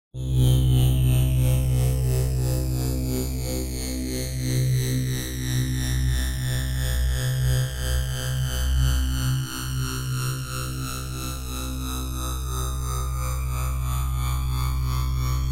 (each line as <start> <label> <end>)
9.6 Oscillating saw 15.5